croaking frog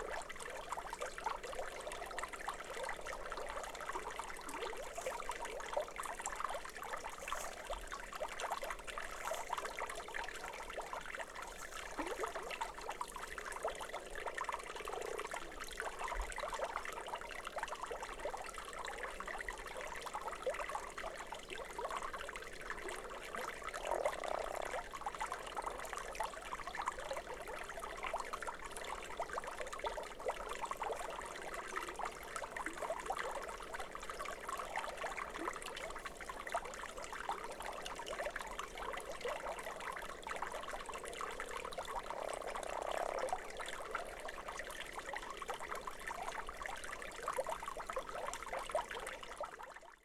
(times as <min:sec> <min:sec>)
0:42.0 0:44.2